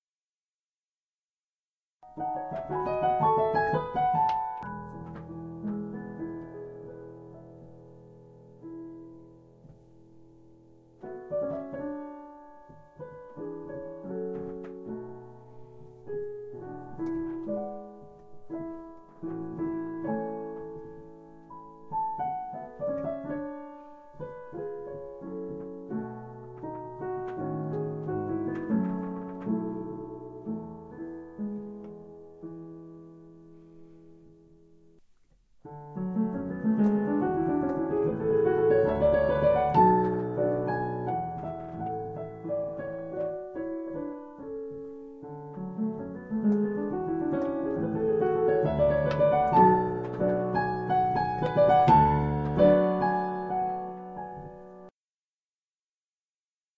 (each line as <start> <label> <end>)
2.2 creaking piano bench 6.9
11.0 creaking piano bench 21.2
21.8 creaking piano bench 30.7
35.2 creaking piano bench 44.4
45.3 creaking piano bench 54.9